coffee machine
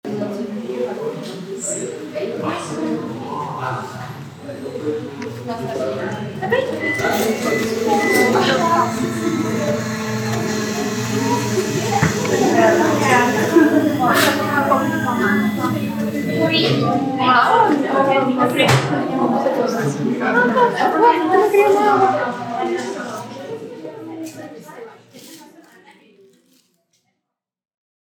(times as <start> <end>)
4.3 17.8